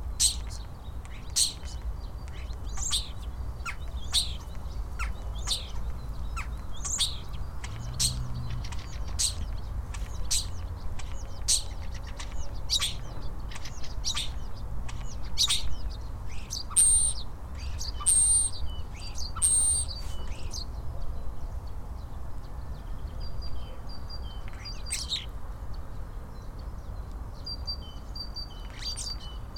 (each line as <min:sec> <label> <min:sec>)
0:00.0 distant traffic sounds 0:29.5
0:00.0 other birds in the background 0:29.5
0:00.0 Starling sings 0:20.7
0:23.5 Starling sings 0:25.3